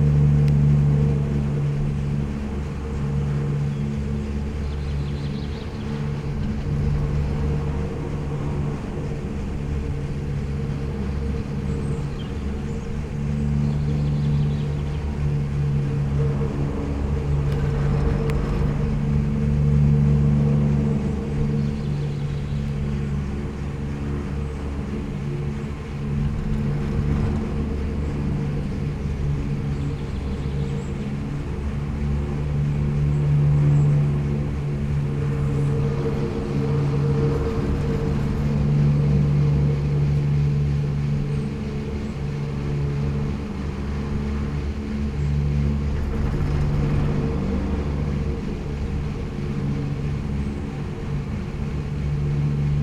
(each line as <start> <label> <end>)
0.0 resonant poles of the Pohorje ropeway 52.8